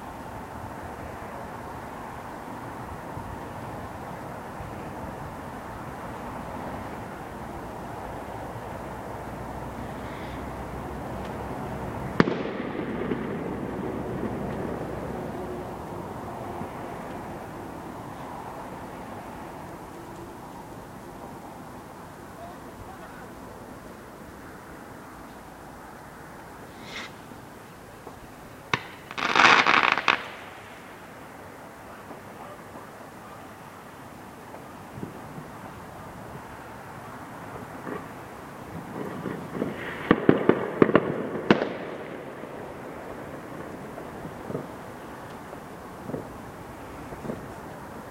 Fireworks exploding 0:11.0 - 0:20.2
Fireworks exploding 0:27.9 - 0:33.5
Fireworks exploding 0:37.5 - 0:48.1

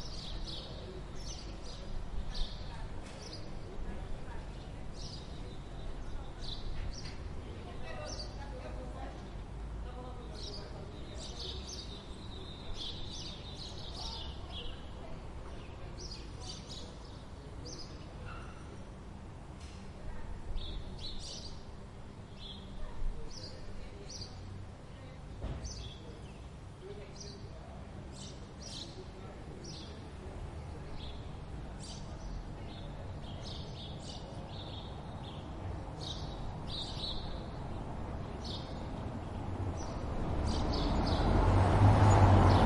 birds 0:00.0 - 0:07.2
traffic 0:00.0 - 0:42.6
birds 0:20.5 - 0:24.6
birds 0:25.4 - 0:42.6

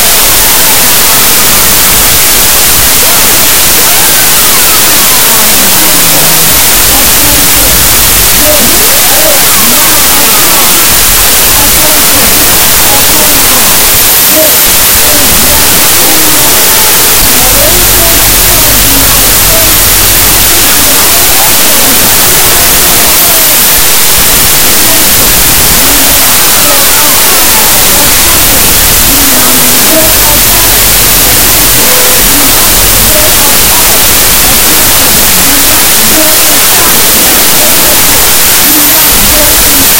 Static 0:00.0 - 0:39.9

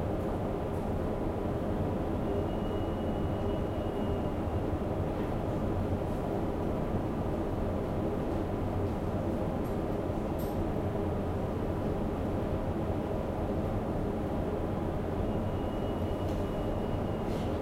hum of the diesels 0:00.0 - 0:17.6

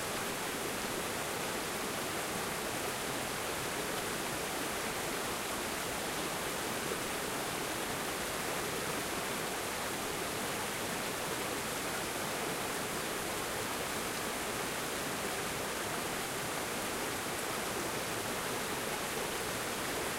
Water flowing over rocks 0:00.0 - 0:20.1

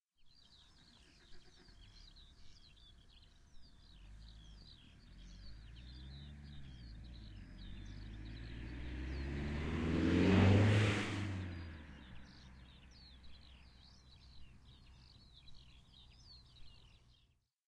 starting the engine and passing bye 0:00.8 - 0:15.3

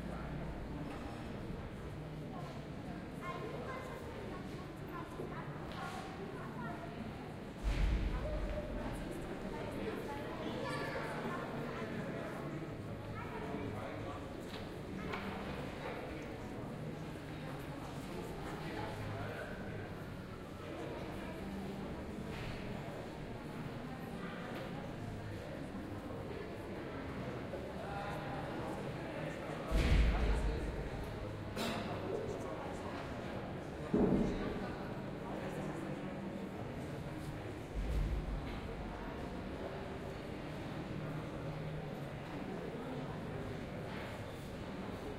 Crowd 0:00.0 - 0:45.1

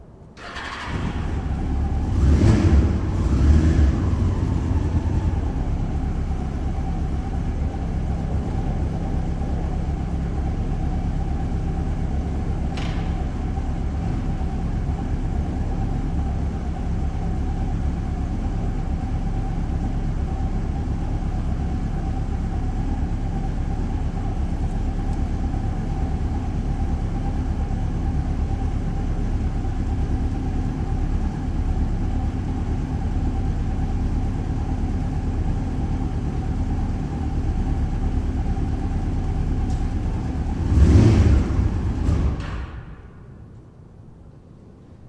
Motor Bike 0:00.0 - 0:45.0

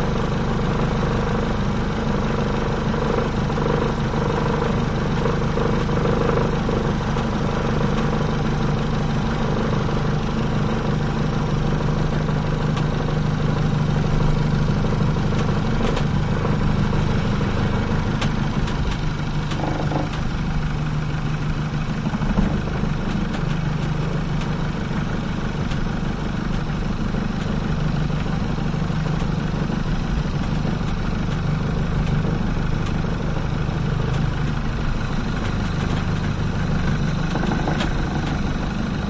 longboat rattly motor 0:00.0 - 0:39.0

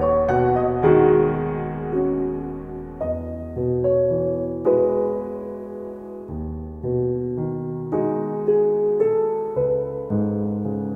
piano 0:00.0 - 0:10.9

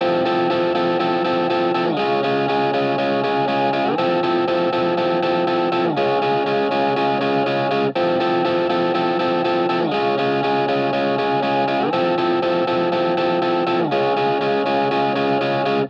electricguitar 0:00.0 - 0:15.8

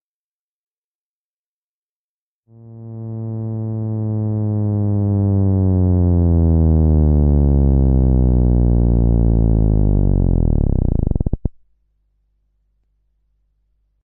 Moog Theremin Sweep 0:02.5 - 0:11.4

